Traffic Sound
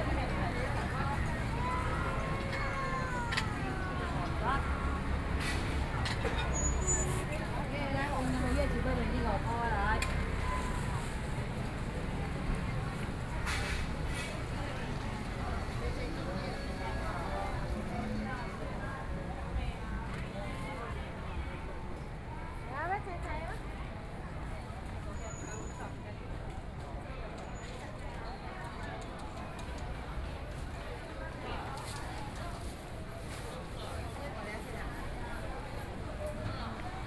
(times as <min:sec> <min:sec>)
0:00.0 0:26.0